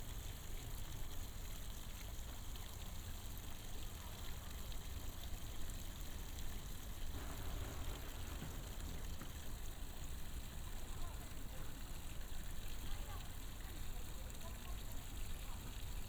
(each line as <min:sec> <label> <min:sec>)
0:07.1 Traffic Sound 0:09.8
0:07.1 walking in the Park 0:10.1